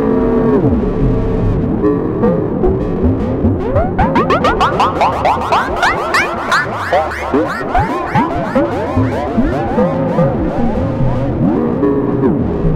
Screaming machine 0:03.8 - 0:11.0

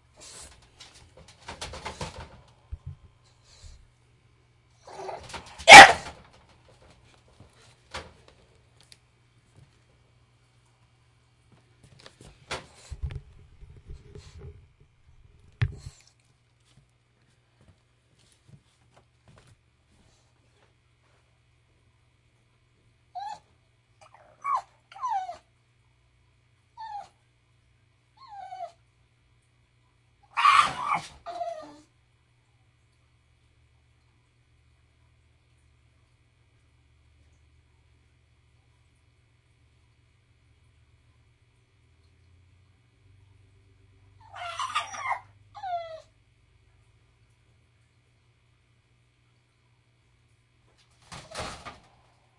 English Bulldog crying, barking, and howling 0:04.8 - 0:06.1
English Bulldog crying, barking, and howling 0:23.2 - 0:25.4
English Bulldog crying, barking, and howling 0:30.3 - 0:31.8
toy poodle also howling in the background 0:30.3 - 0:31.9
English Bulldog crying, barking, and howling 0:44.2 - 0:46.1
toy poodle also howling in the background 0:44.2 - 0:46.2

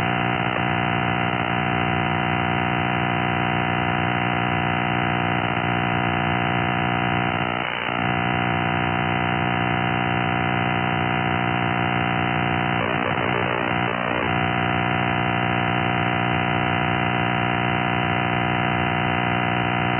signal that seems to be jamming WWV on 5 MHz 0:00.0 - 0:19.9

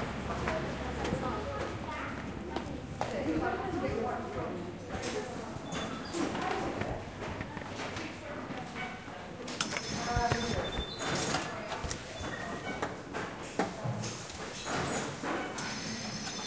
subway 0:00.0 - 0:04.8
subway 0:14.2 - 0:16.4

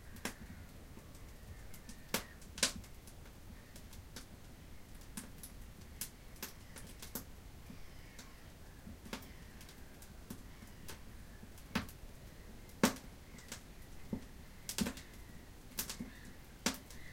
firewood 0:00.0 - 0:17.1

